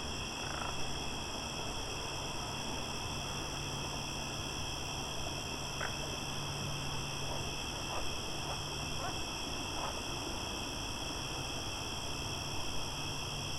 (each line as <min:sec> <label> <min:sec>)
0:00.0 Frogs croaking in a creek 0:11.7